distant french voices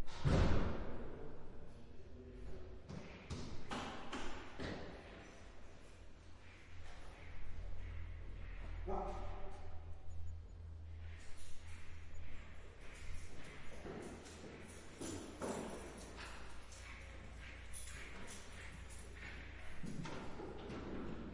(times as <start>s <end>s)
5.0s 21.3s